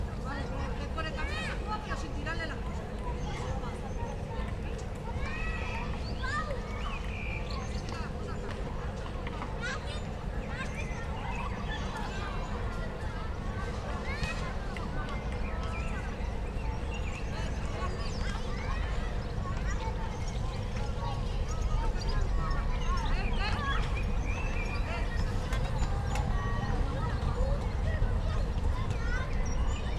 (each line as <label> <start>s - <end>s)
many birds 0.2s - 29.9s